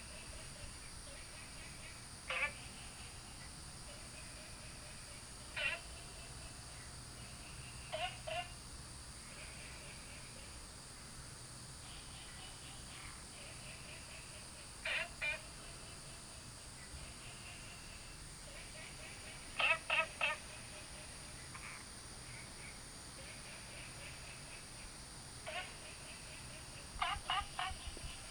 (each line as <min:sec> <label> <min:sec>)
0:00.0 Frogs chirping 0:28.3